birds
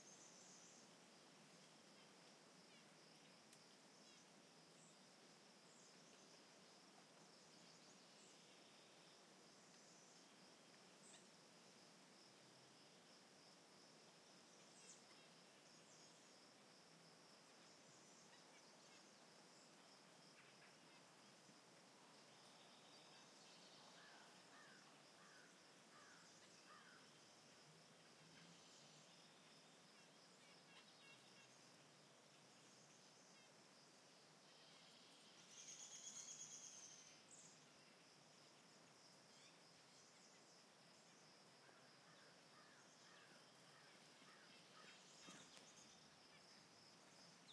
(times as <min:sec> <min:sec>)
0:28.1 0:33.5, 0:39.3 0:47.5